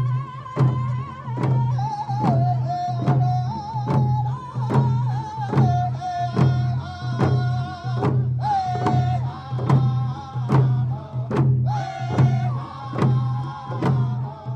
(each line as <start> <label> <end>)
0.0 drum circle 14.5